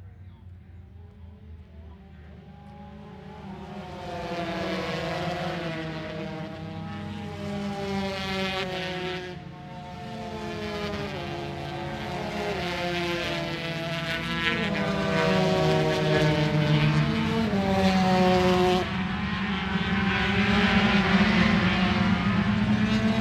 0.0s Motorcycle Grand Prix 23.2s

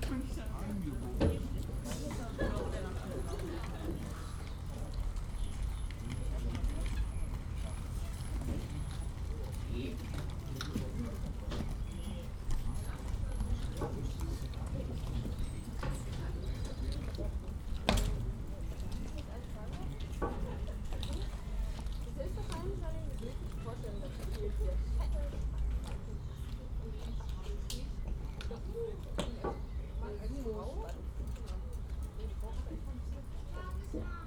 0.0s ferry boat 34.2s
0.0s people waiting 34.2s

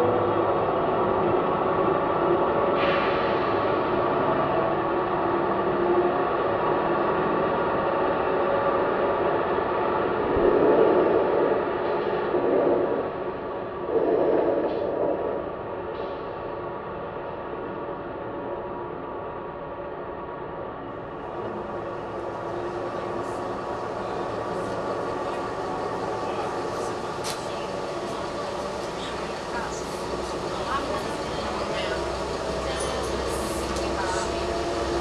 0.0s Train 35.0s

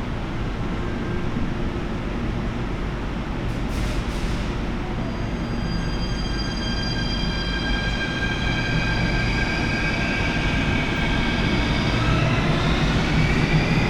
0.0s departing metro trains 13.8s

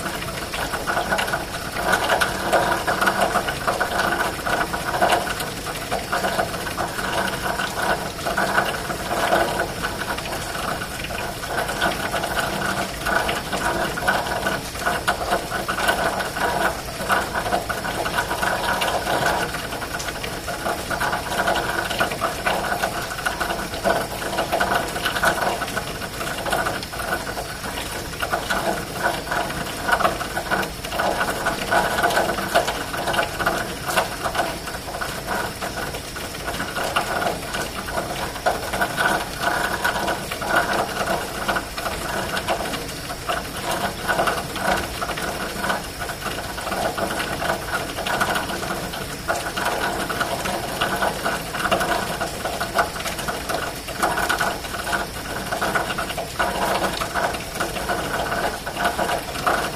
0.0s Rain falling in an elbow of a downspout 59.7s

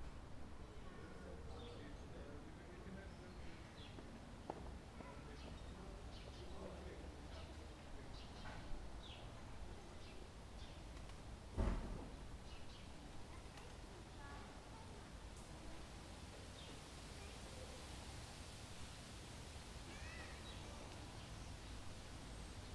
10.8s poplars on this square make a rustling sound 14.6s

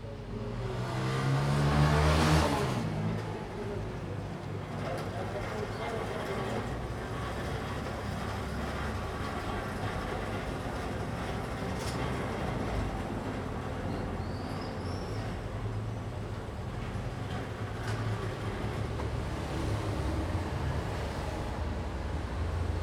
0.0s morning traffic 22.8s
3.0s speech 7.7s

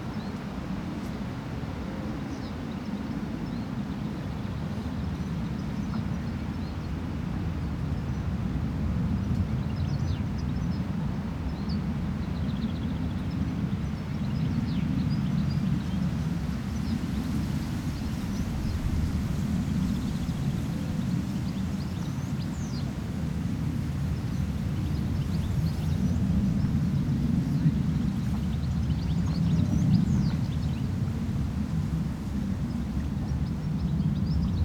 14.5s planes taking of 34.6s

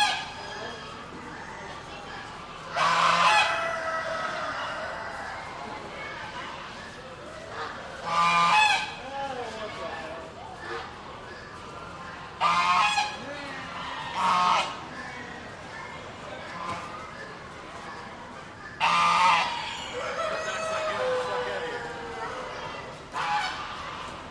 0.0s Other poultry are heard in the background 24.3s

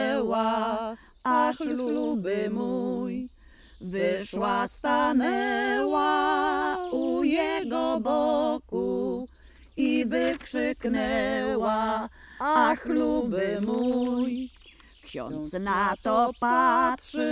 4.0s Piosenka 17.3s

